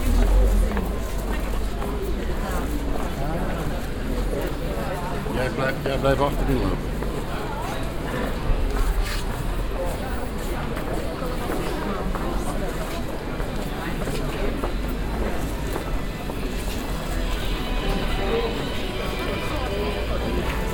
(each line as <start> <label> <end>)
0.0 people 20.7